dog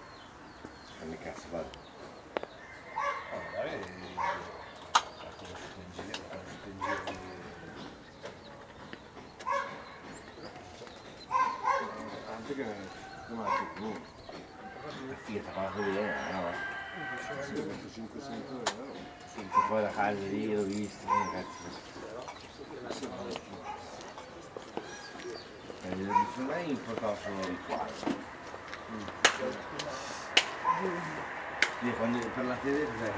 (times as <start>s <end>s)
3.0s 3.3s, 4.1s 4.8s, 6.8s 7.2s, 8.4s 12.4s, 13.0s 14.1s, 19.0s 20.0s, 21.0s 21.7s, 23.6s 24.2s, 26.0s 26.5s, 30.6s 31.0s